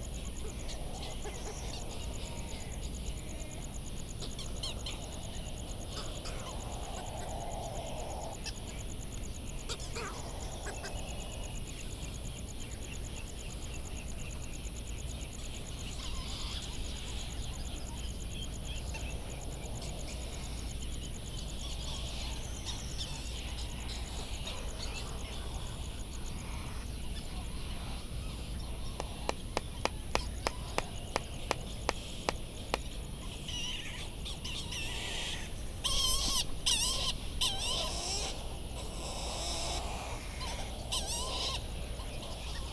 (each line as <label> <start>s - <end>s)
background noise from generators 0.0s - 42.7s
laysan calls and bill clapperings 28.6s - 33.5s